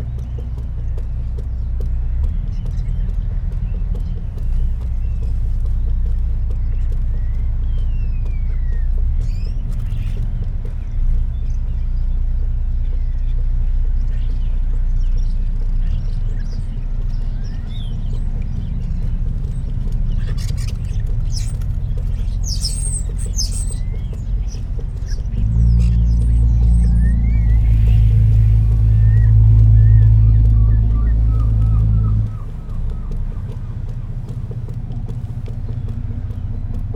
boats leaving harbour 0:00.0 - 0:36.9
starlings on the harbour light 0:12.4 - 0:36.9
lesser black-backed gull 0:17.4 - 0:36.6

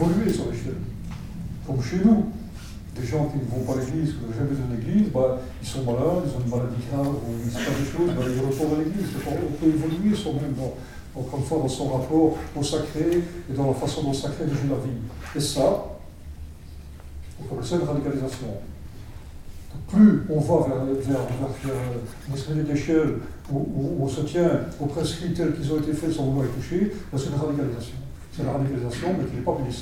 he explains 0:00.0 - 0:16.1
he explains 0:17.3 - 0:18.8
he explains 0:19.7 - 0:29.8

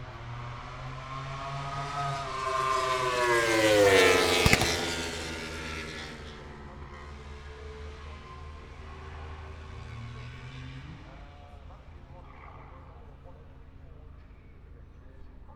Motorcycle Grand Prix 0:00.0 - 0:15.5

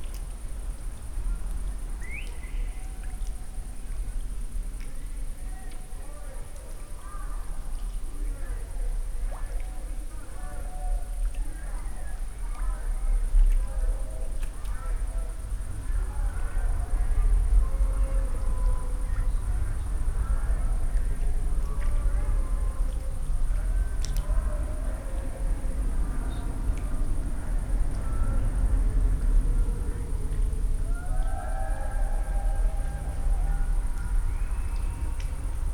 people talking 0:05.4 - 0:35.7
distant party 0:23.7 - 0:35.7

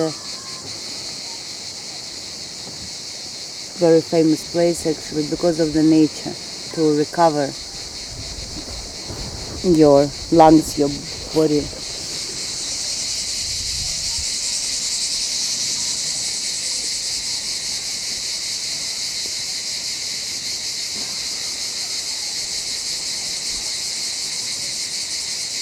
cicades 0:00.0 - 0:25.6
svetlana introduces the villa / castle 0:03.7 - 0:12.4
seawaves 0:03.8 - 0:14.4

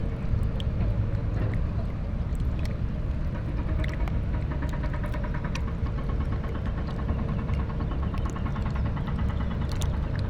river flow 0:00.0 - 0:10.2

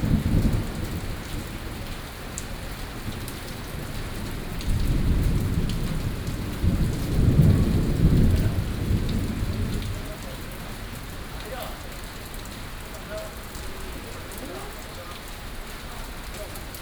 Thunderstorms 0:00.0 - 0:14.4

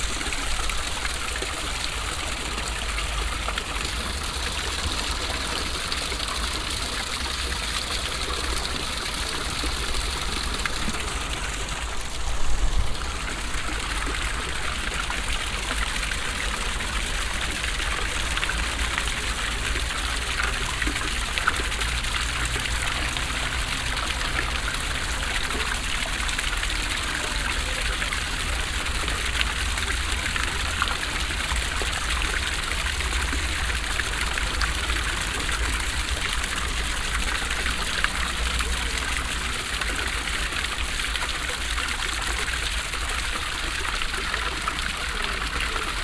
small classic fountain 0:00.0 - 0:46.0

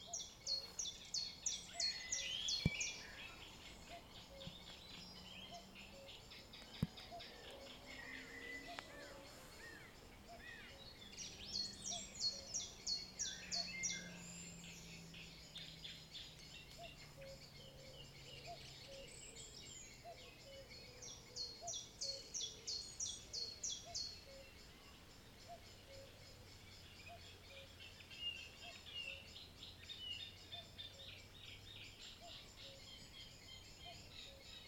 Cuckoo 0:00.0 - 0:34.6
light rustling of the wind in the trees 0:00.0 - 0:34.6
other birds join the evening chorus 0:00.0 - 0:34.6
distant cars in the distance 0:01.1 - 0:22.5

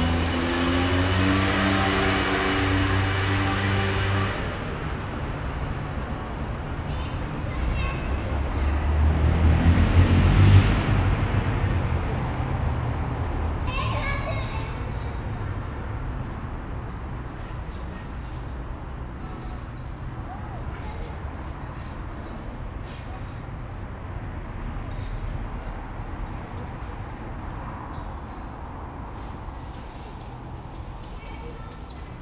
autos 0:00.0 - 0:32.2

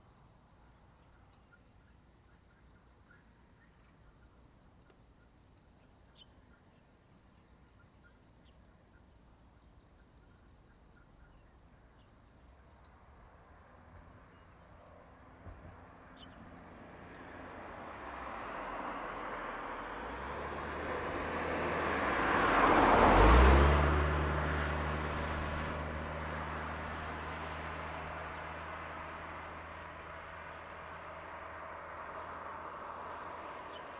Traffic Sound 0:13.1 - 0:33.9

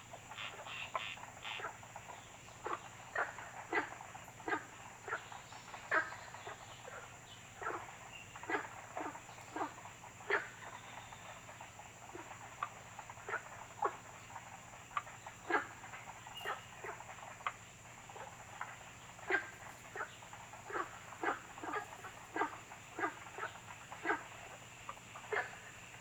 Birds called 0:00.0 - 0:26.0
Frogs chirping 0:00.0 - 0:26.0

